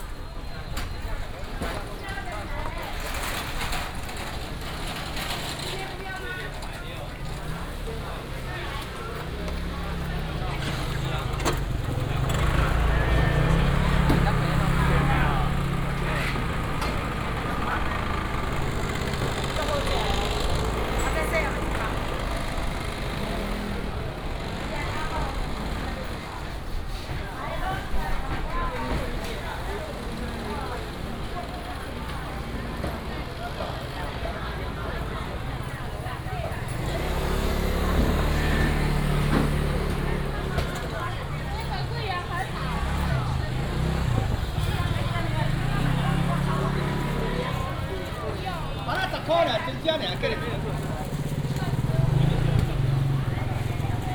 Traffic sound 0.0 - 54.1

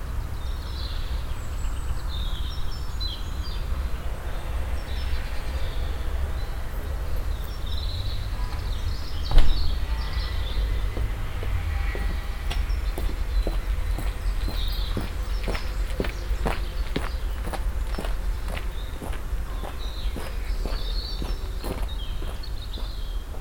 cars passing by 0.0 - 23.4
steps on the stoney passway 9.7 - 23.4

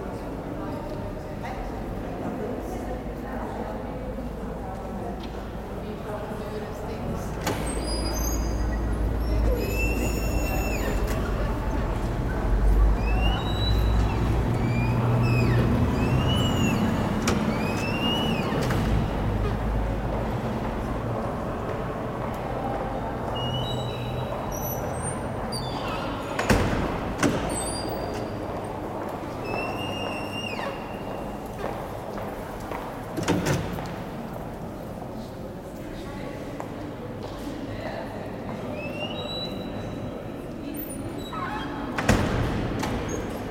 sqeaking doors 7.2 - 20.5
sqeaking doors 23.0 - 32.0
sqeaking doors 40.7 - 43.5

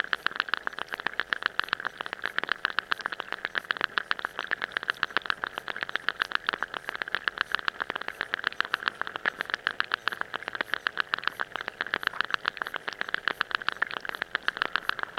underwater rhythms 0.0 - 15.1

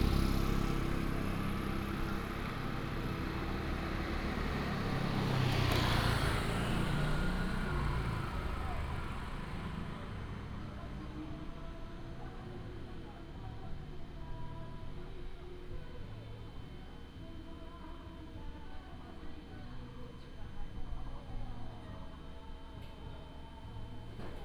traffic sound 0.0 - 10.6

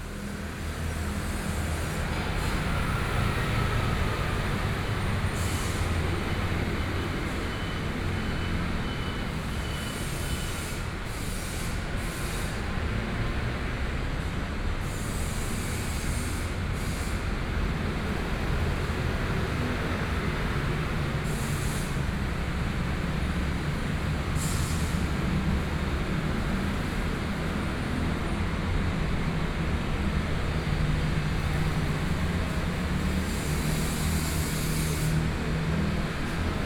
Traffic Noise 0.0 - 36.6
Factory noise 14.9 - 36.6

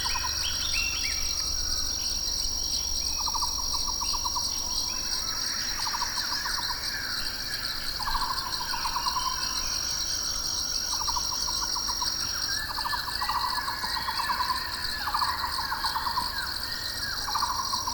Tropical birds 0.0 - 17.9

